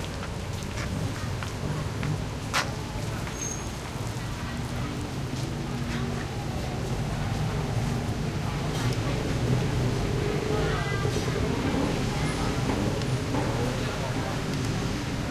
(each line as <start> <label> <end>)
0.0 light traffic 15.3
0.0 pedestrians 15.3